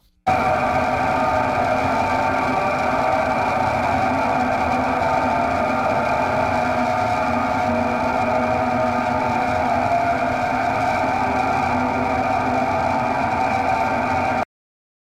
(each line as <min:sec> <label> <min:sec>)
0:00.3 Horror Scream 0:14.5